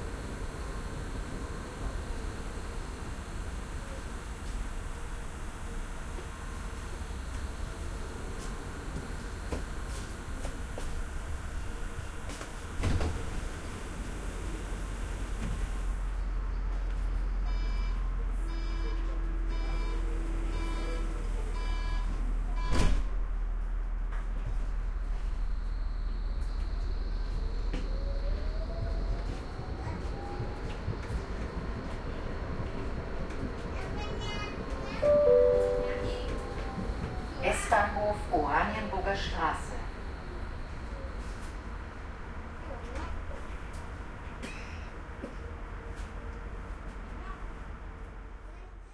0.0s almost empty tram 48.9s
33.8s public address 40.0s

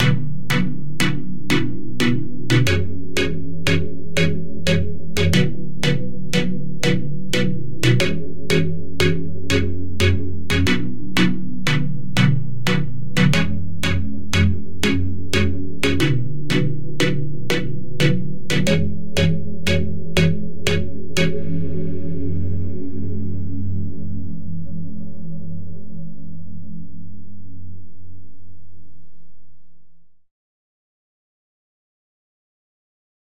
0.0s Sine Chords 28.1s

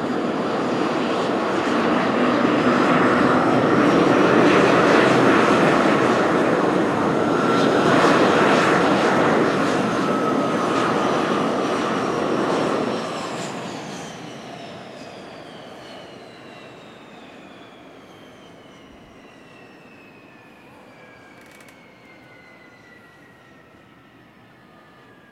0.0s aircraft shutdown 25.3s

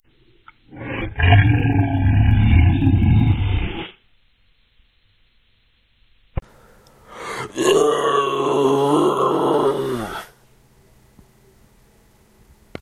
0.6s raw vocal recording 4.0s
0.7s Orc Growl 3.9s
7.0s raw vocal recording 10.4s
7.3s Orc Growl 10.4s

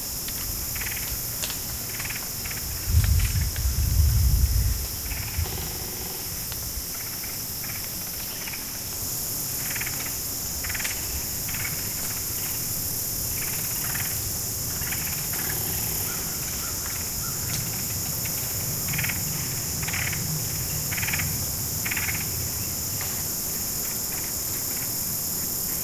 0.0s wind sifting through the branches of the oaks 15.4s
15.4s crows 17.6s

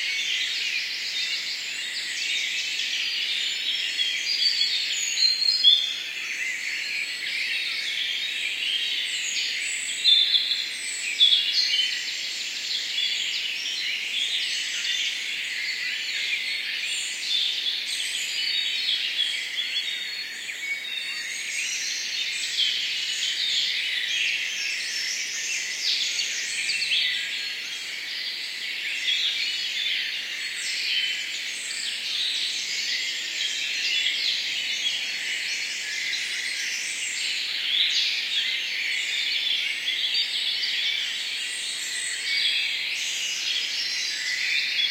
0.0s birds are twittering powerful 44.9s

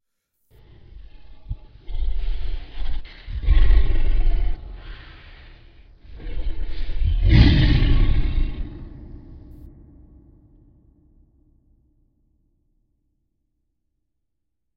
0.6s monster roar 10.2s

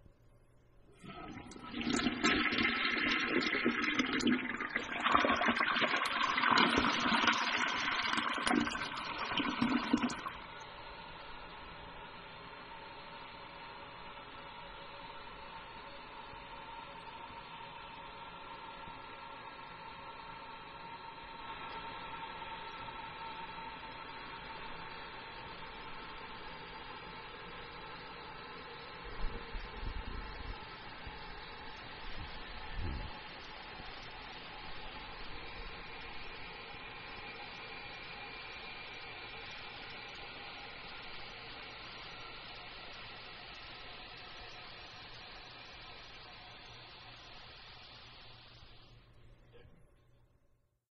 0.9s Toilet flushing 11.5s
0.9s tank filling to shut-off 12.3s

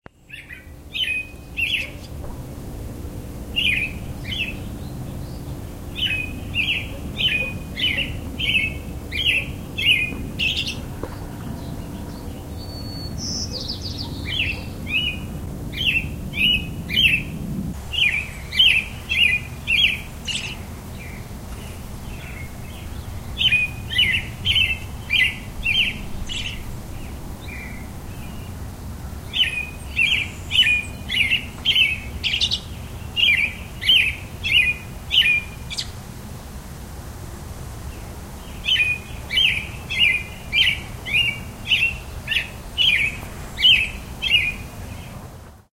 0.2s ROBIN SONG 36.0s
5.2s other robin answering in the distance 17.2s

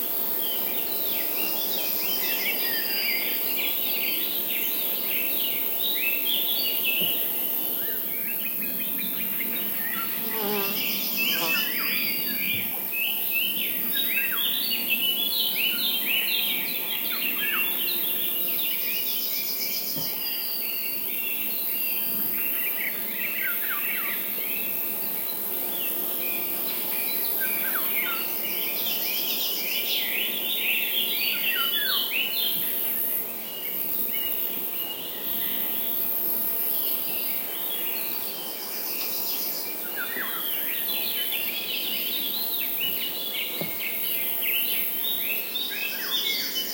0.0s crickets 46.7s
0.2s Birds 46.7s

